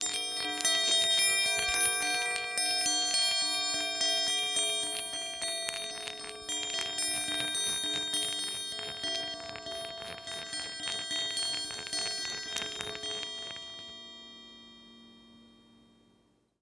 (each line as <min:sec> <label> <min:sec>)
0:01.6 Chinese Baoding Balls 0:13.9